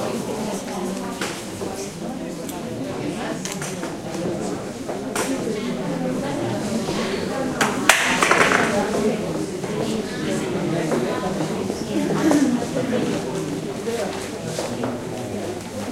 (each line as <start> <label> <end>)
0.0 murmurs of people 15.9